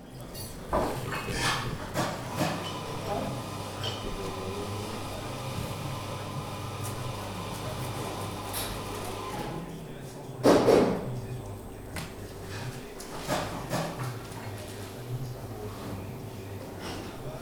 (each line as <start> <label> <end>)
0.0 hotel sounds 10.3